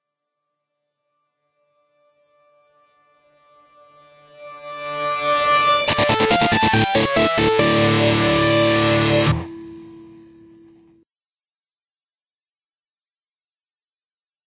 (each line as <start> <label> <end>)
4.9 synth 10.7
5.5 guitar 10.9